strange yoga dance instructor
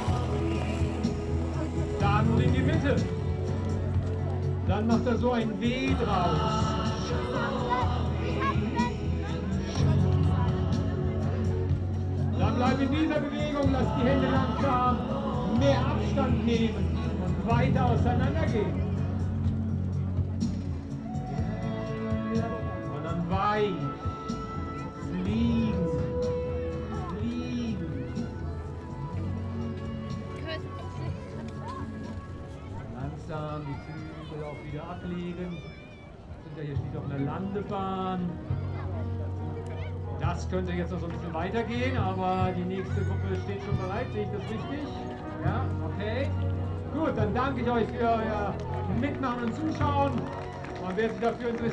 0.0s 4.7s

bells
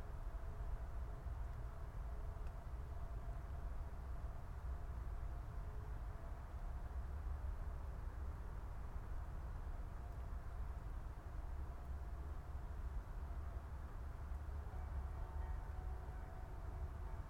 14.7s 17.2s

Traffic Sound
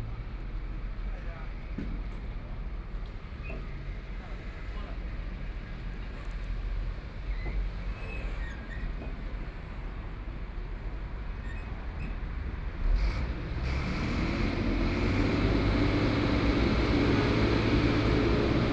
12.3s 18.7s

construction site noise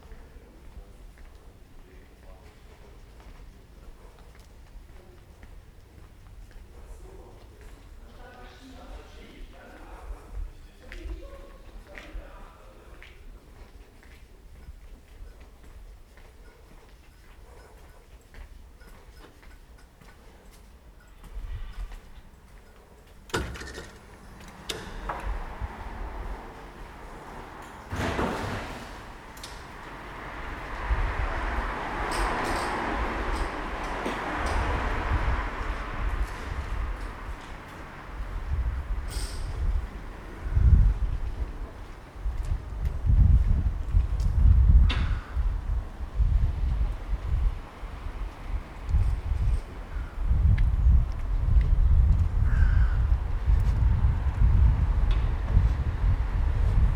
12.8s 51.7s

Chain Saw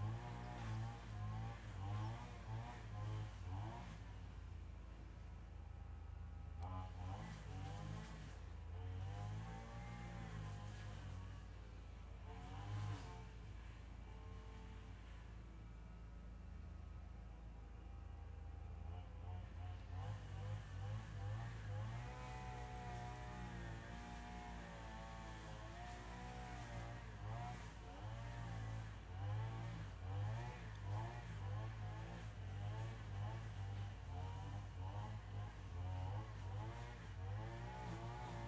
0.0s 4.1s, 19.3s 38.4s

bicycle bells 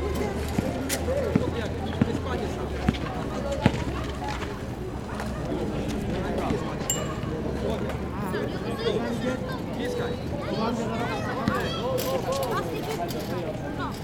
6.9s 7.4s

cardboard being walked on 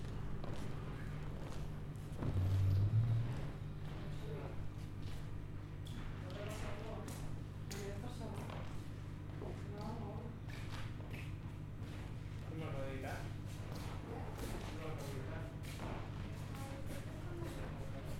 0.0s 5.3s

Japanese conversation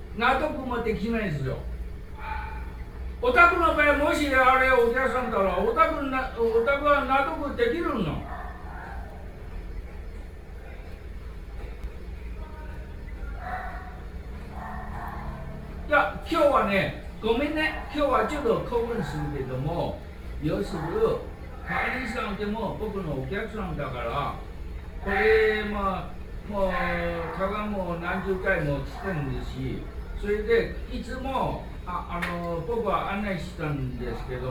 15.9s 34.5s

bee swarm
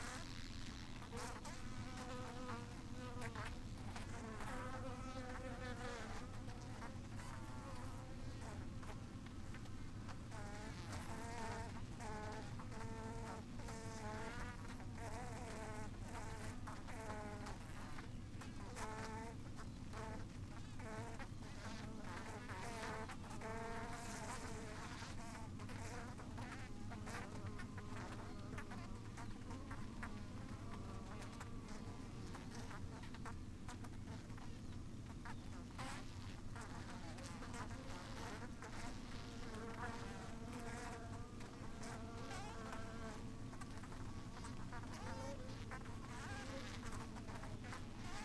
35.8s 48.2s

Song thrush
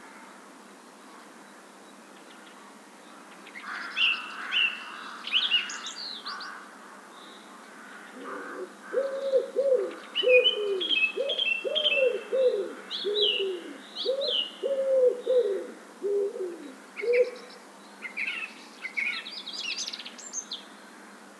9.0s 20.8s

